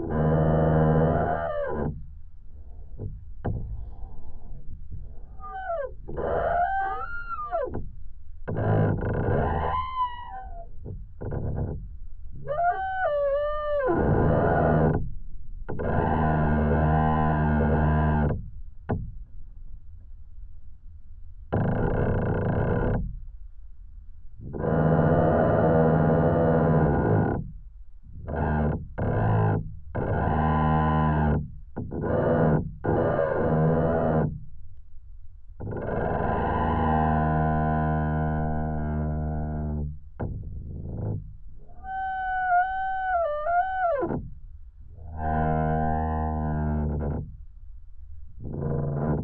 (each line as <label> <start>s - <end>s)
singing, moaning tree 0.0s - 15.1s
singing, moaning tree 15.7s - 19.1s
singing, moaning tree 24.4s - 27.5s
singing, moaning tree 28.1s - 34.4s
singing, moaning tree 35.6s - 47.4s
singing, moaning tree 48.4s - 49.2s